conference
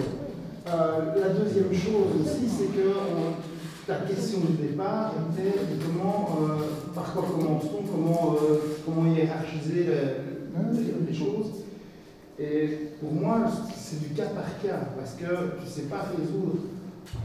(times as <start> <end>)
0.0 11.7